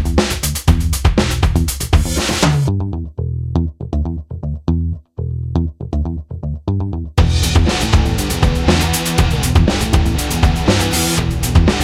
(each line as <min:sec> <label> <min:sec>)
0:00.0 Music 0:11.8